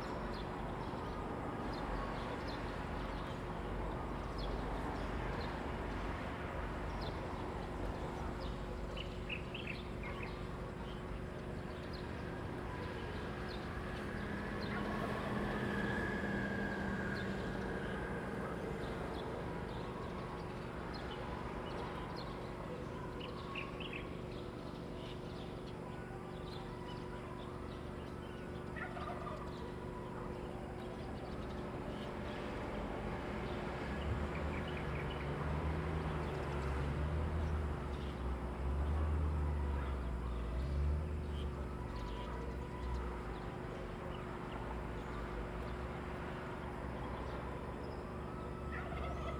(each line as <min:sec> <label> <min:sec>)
0:11.0 Traffic Sound 0:23.2
0:31.1 Traffic Sound 0:49.3